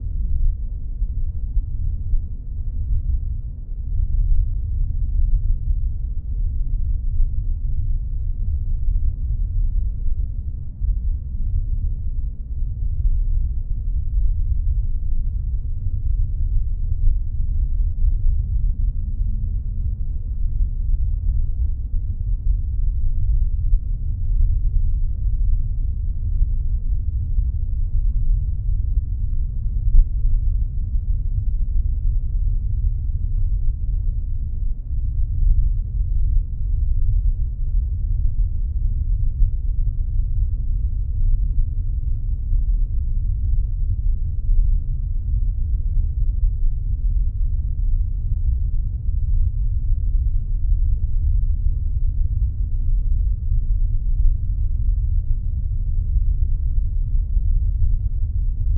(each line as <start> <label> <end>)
0.0 bass rumble 58.7